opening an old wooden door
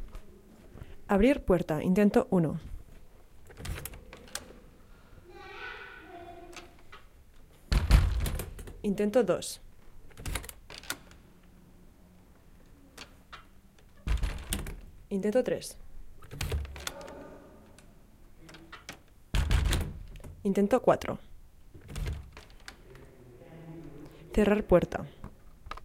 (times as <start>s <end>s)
3.4s 4.7s, 6.5s 8.9s, 10.0s 11.2s, 12.9s 15.1s, 16.2s 17.8s, 18.4s 20.5s, 21.7s 23.0s